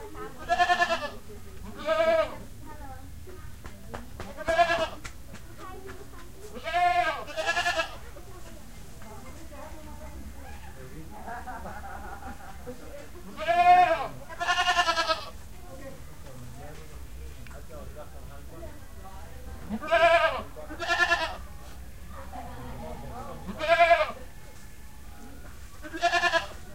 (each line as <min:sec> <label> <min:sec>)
0:00.0 Goats 0:02.4
0:04.2 Goats 0:10.8
0:11.7 Goats 0:15.5
0:19.6 Goats 0:26.7